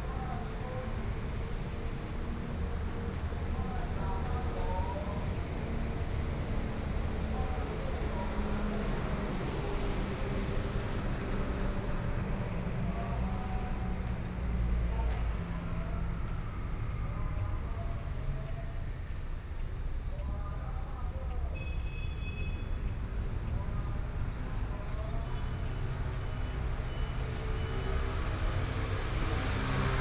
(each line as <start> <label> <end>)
0.0 Traffic Sound 30.0
0.0 walking on the Road 30.0